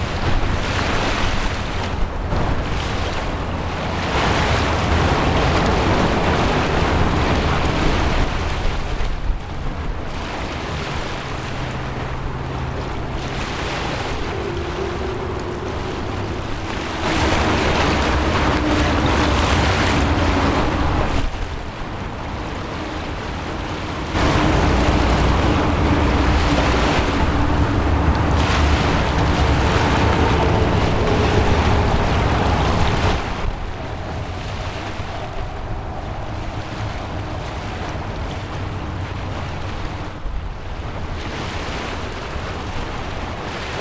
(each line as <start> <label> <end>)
0.0 motorway 43.8
0.0 waves 43.8